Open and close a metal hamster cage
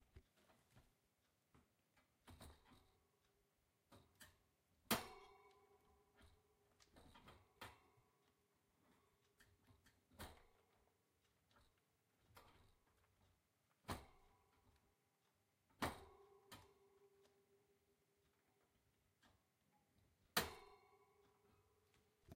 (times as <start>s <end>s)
2.2s 3.2s, 3.9s 14.9s, 15.7s 17.4s, 19.2s 22.3s